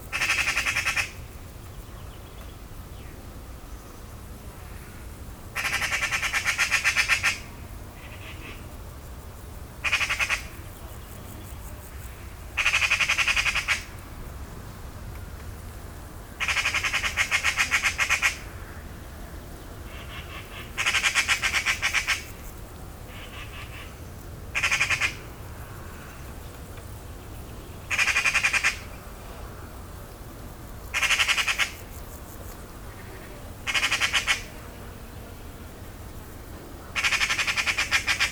0.1s anxious magpie 1.2s
5.6s anxious magpie 8.6s
9.8s anxious magpie 10.6s
12.6s anxious magpie 13.9s
16.4s anxious magpie 18.5s
19.9s anxious magpie 22.3s
23.1s anxious magpie 24.0s
24.6s anxious magpie 25.3s
27.8s anxious magpie 28.9s
30.9s anxious magpie 31.9s
32.9s anxious magpie 34.6s
36.9s anxious magpie 38.3s

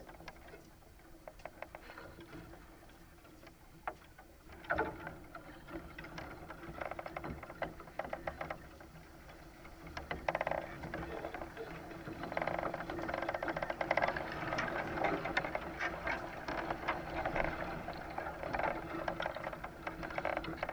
0.0s Bamboo canes in a light wind 20.7s

